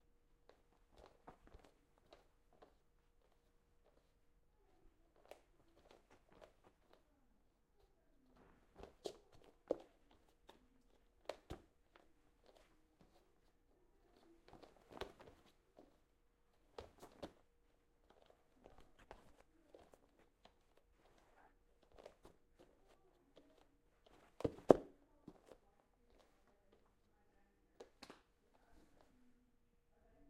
Barefoot lightweighted person on hardwood floor Running 0.5 - 2.7
Barefoot lightweighted person on hardwood floor Running 8.8 - 10.6
Barefoot lightweighted person on hardwood floor Running 18.0 - 25.6

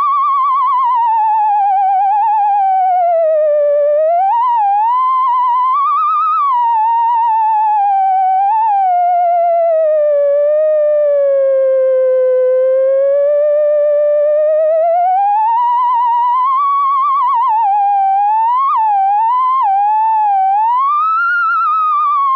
Theremin 0.0 - 22.3

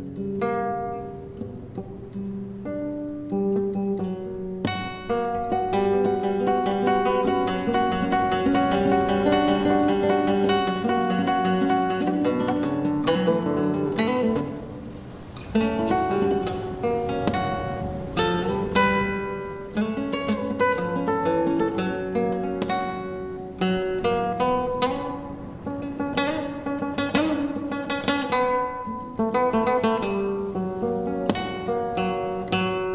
guitarra clásica 0.0 - 32.9

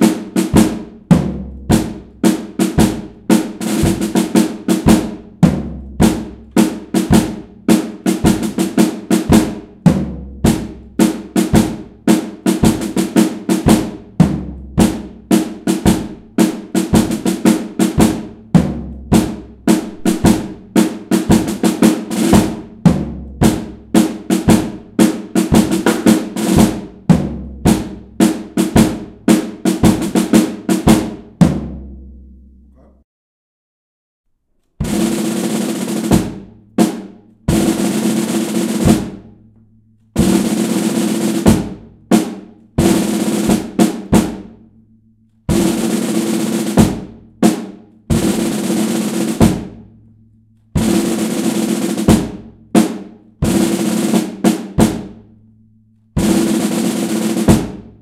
snare 0.0 - 31.7
single tom 0.0 - 32.9
snare 34.6 - 44.6
single tom 34.8 - 44.5

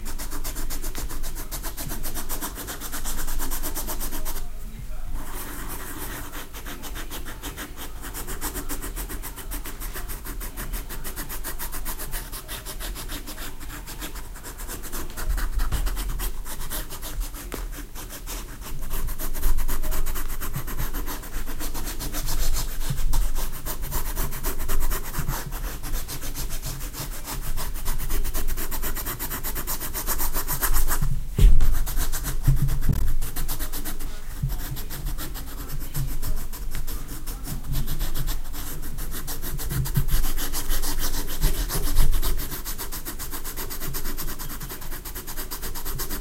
writing 0.0 - 46.2

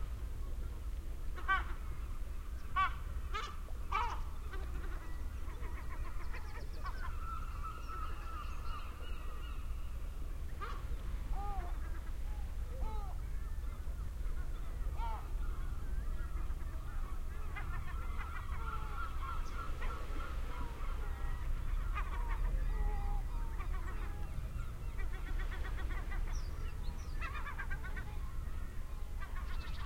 waves 0.0 - 29.8
seagulls 1.3 - 29.8

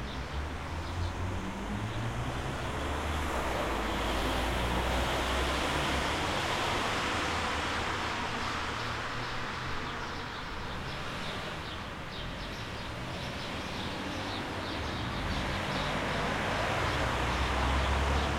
Cars 0.0 - 18.3
Birds 8.0 - 18.3

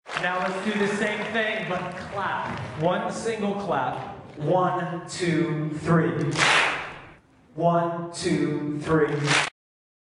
Single Clap 6.3 - 7.0
Single Clap 9.2 - 9.5

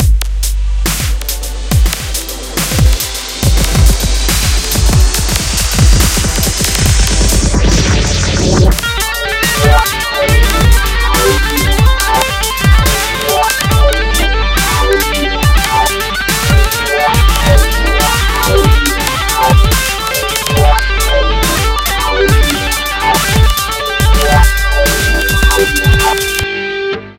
LOUD MUSIC 0.0 - 27.1

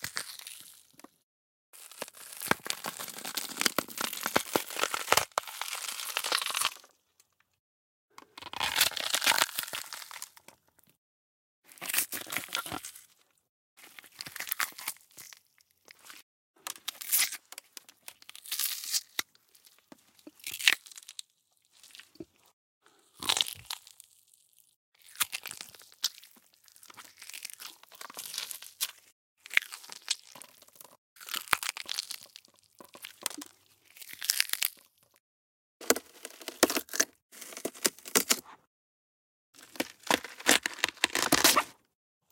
gore gory blood smash flesh murder bone break 1.9 - 6.9
gore gory blood smash flesh murder bone break 8.4 - 10.3
gore gory blood smash flesh murder bone break 39.6 - 41.8

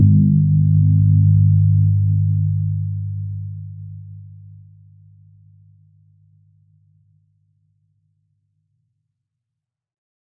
Asian Gong 0.0 - 4.2

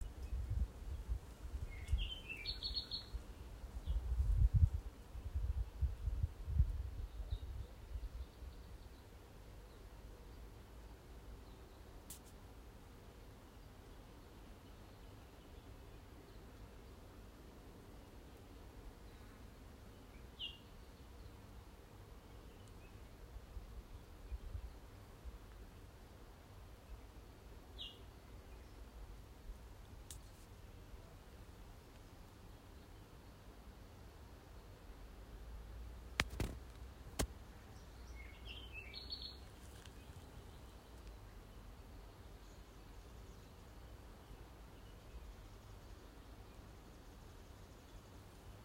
Bird calls and songs 0.0 - 12.4
Bird calls and songs 13.5 - 17.3
Bird calls and songs 17.9 - 25.7
Bird calls and songs 26.8 - 29.1
Bird calls and songs 31.9 - 33.5
Bird calls and songs 37.6 - 48.6

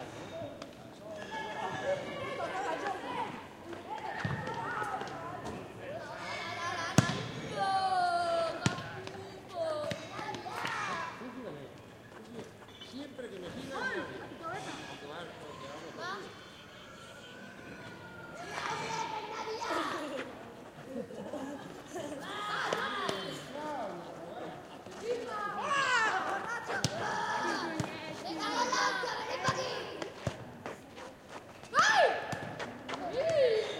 Children playing football 0.2 - 11.6
Children playing football 12.2 - 33.7

